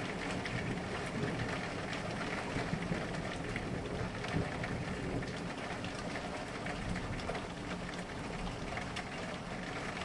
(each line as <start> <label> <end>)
0.2 thunder 6.0